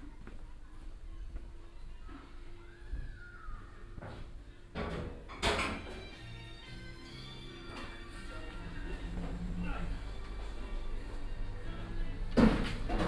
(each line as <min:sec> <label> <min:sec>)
0:00.0 people 0:04.6